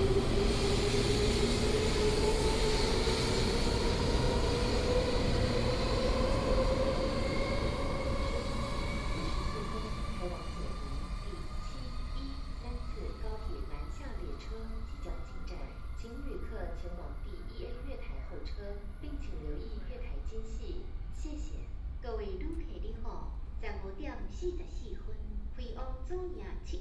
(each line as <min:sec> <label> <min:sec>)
0:00.0 Trains arrive and depart 0:22.2